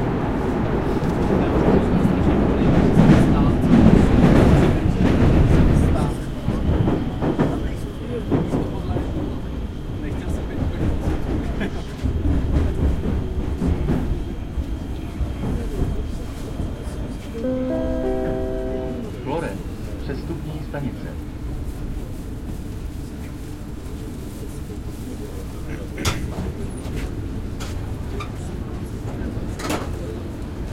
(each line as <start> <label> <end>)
0.0 subway 30.7
23.0 people 30.7